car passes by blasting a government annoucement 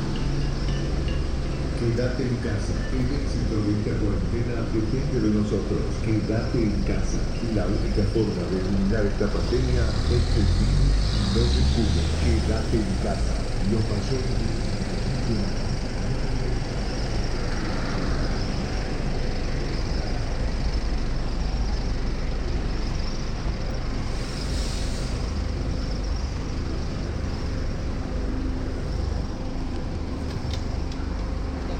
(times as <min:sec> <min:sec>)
0:01.7 0:16.3